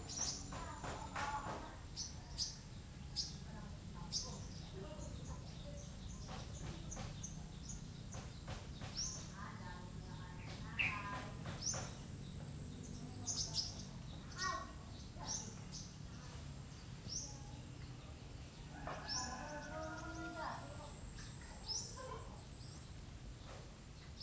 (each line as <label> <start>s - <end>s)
several people busy with their dayly life 0.0s - 24.2s
birds 0.0s - 24.2s
insects 0.0s - 24.2s
roosters 17.2s - 22.8s